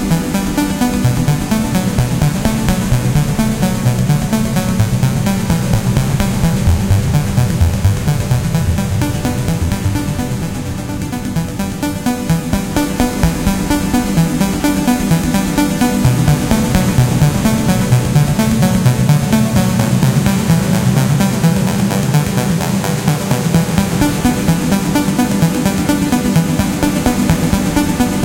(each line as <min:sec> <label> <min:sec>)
0:00.0 Synth 0:28.2